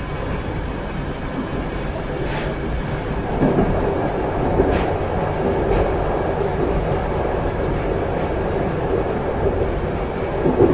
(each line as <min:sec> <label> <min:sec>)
0:00.0 intercity train ride 0:10.7